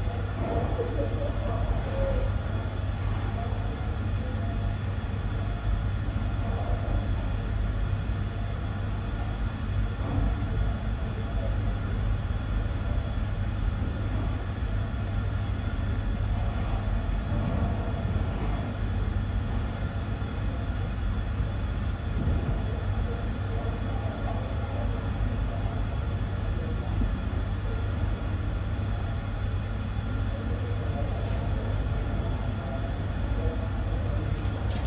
Voices through the heating system 0:00.0 - 0:34.8

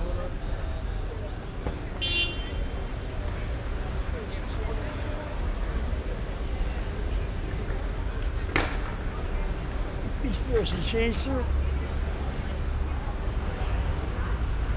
people passing 0:00.0 - 0:14.7

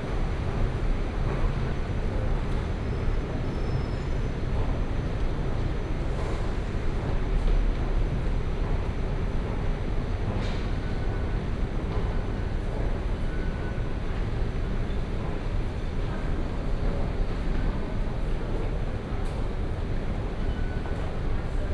walking into the MRT station 0:00.0 - 0:21.7

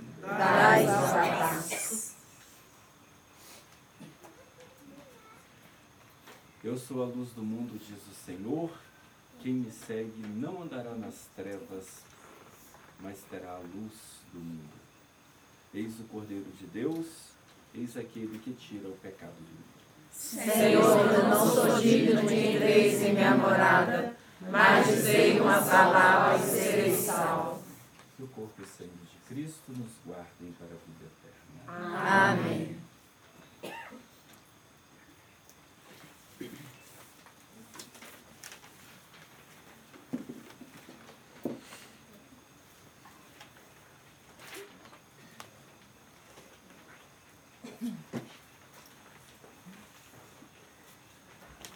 A group of 30 people (approx.) praying and singing 0:00.0 - 0:02.1
A group of 30 people (approx.) praying and singing 0:20.2 - 0:27.9
A group of 30 people (approx.) praying and singing 0:31.7 - 0:32.9

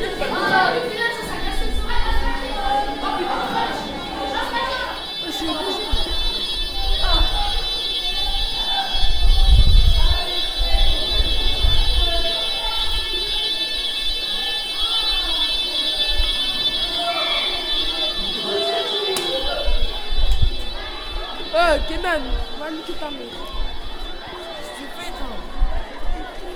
alarm test 0:00.0 - 0:26.5

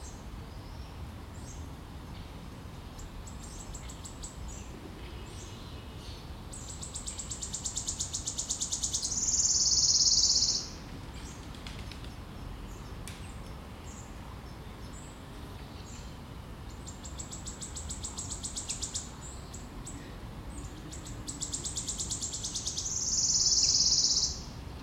voices of other birds 0:00.0 - 0:24.8
Bird trills 0:06.6 - 0:10.8
Bird trills 0:21.3 - 0:24.5

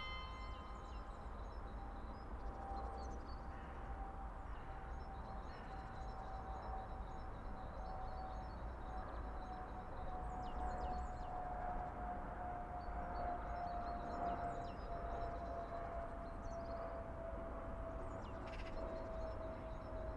aircrafts 0:00.0 - 0:20.1

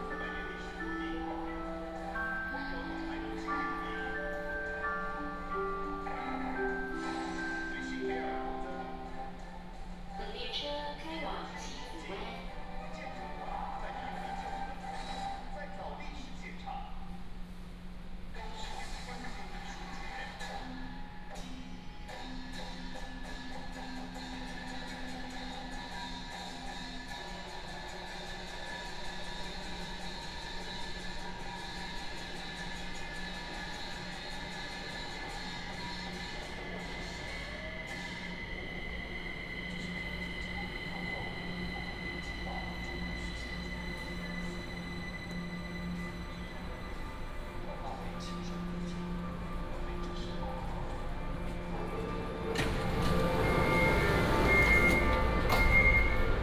Take the MRT 0:00.0 - 0:56.4
In-car message broadcasting 0:00.0 - 0:09.6

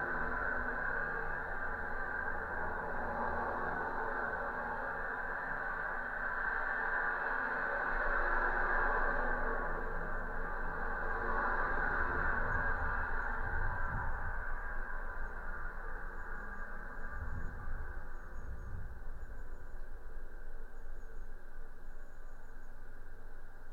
metalic constructions of abandoned viaduct 0:00.0 - 0:23.7

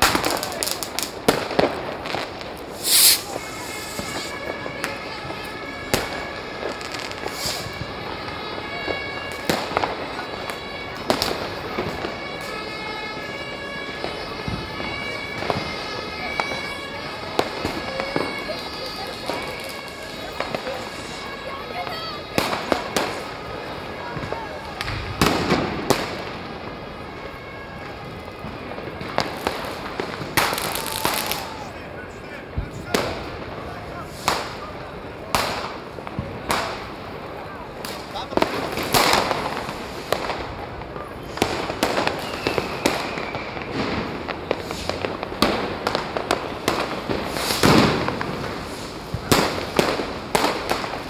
Tens of thousands of people 0:00.0 - 0:51.0
fireworks 0:00.0 - 0:51.0

